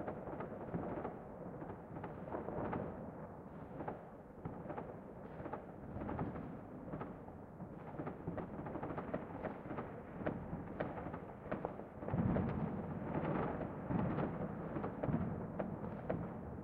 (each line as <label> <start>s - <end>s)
Close and echoy distant fireworks 0.0s - 16.6s